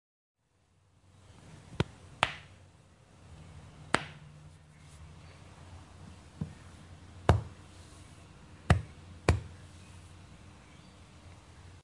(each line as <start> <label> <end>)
1.8 slapping a furry animal on the rump 2.5
3.9 slapping a furry animal on the rump 4.2